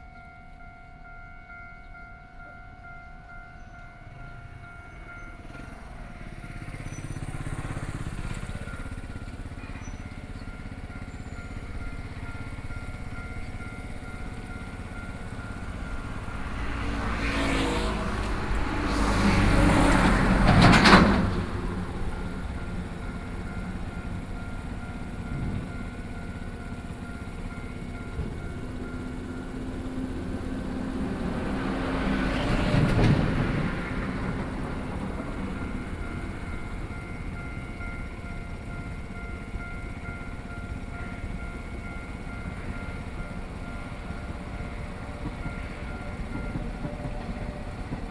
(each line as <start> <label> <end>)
0.0 Trains traveling through 48.1
2.0 Traffic Sound 48.1